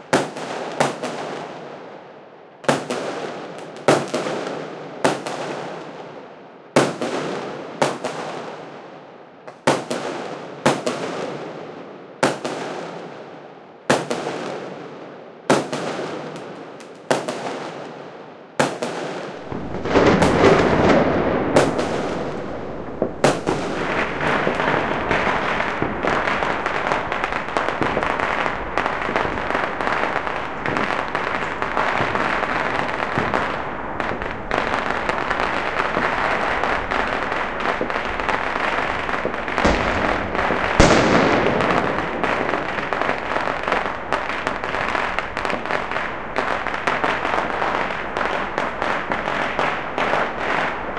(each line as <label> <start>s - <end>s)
Fireworks 0.0s - 50.9s